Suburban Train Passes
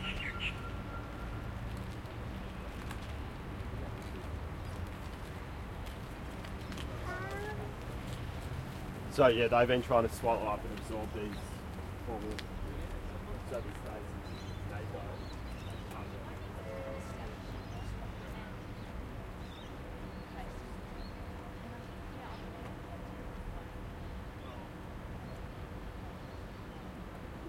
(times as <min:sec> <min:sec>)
0:00.0 0:05.5